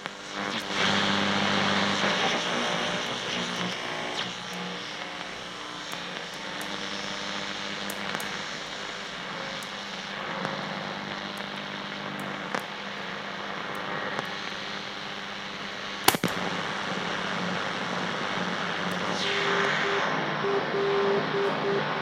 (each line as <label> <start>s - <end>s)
Old Radio Tuning Wave 0.0s - 22.0s
white noise 9.9s - 22.0s